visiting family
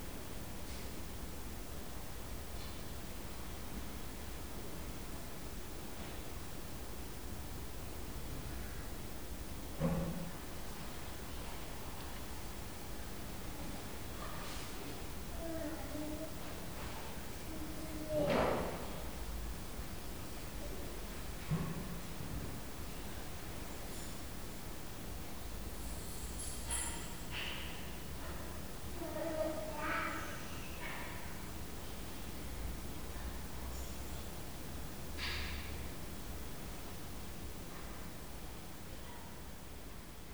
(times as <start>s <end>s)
11.2s 23.7s, 26.0s 34.9s